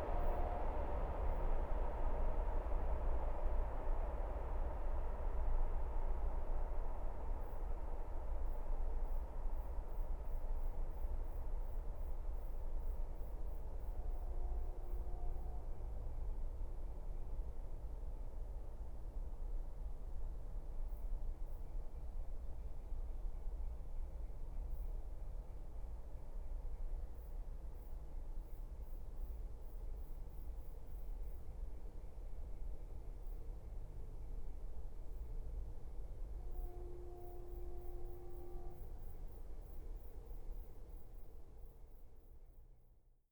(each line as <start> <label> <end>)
0.0 passing train sound is muffled 19.4
33.8 passing train sound is muffled 41.8
36.4 it's horn 39.4